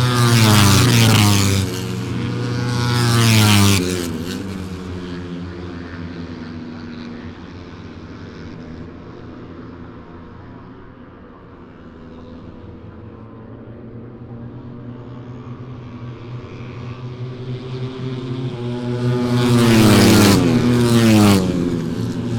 Motorcycle 0:00.0 - 0:22.3

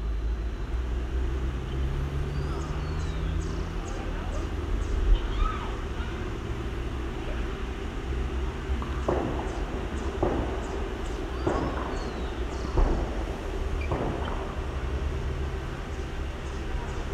cars 0:00.0 - 0:17.1
birds 0:00.4 - 0:17.1
children screaming and running 0:04.9 - 0:06.4
shots 0:08.8 - 0:15.3

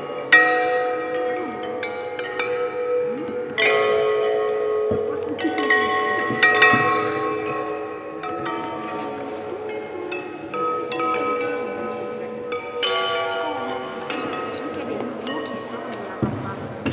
visitors talking 0:01.1 - 0:16.9

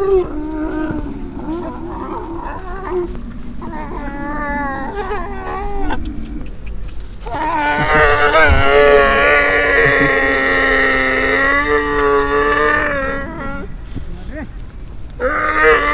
Camels 0:00.0 - 0:15.9

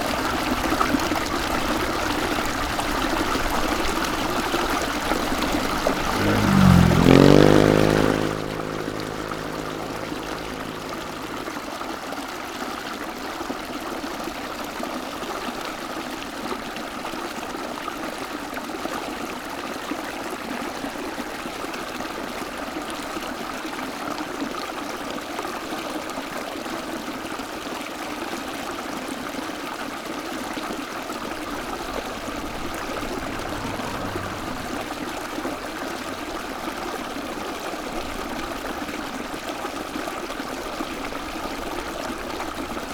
Stream 0:00.0 - 0:42.9

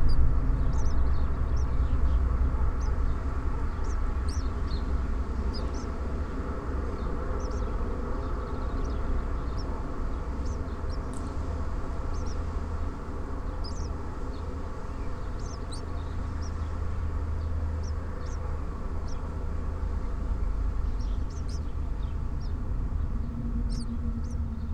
birds nest in wall 0:00.0 - 0:24.7

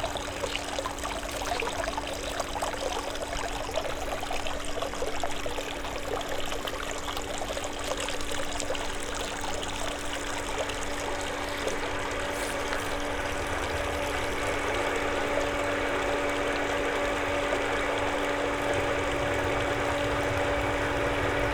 fountain 0:00.0 - 0:21.5

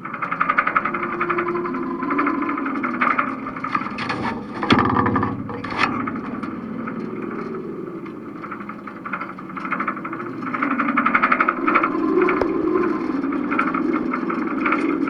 side stay of a sailing boat 0:00.0 - 0:15.0

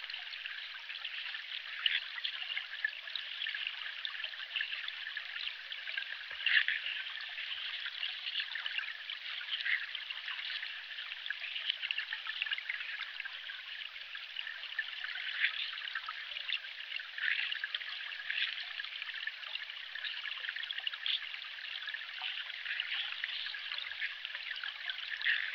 river underwater 0:00.0 - 0:25.5

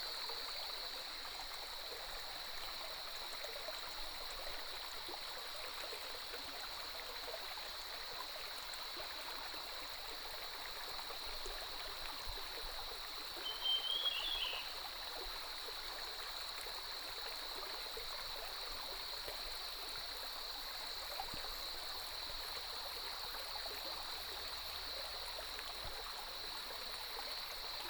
Stream 0:00.0 - 0:27.8
Cicadas cry 0:13.3 - 0:15.1
Birdsong 0:13.4 - 0:14.7

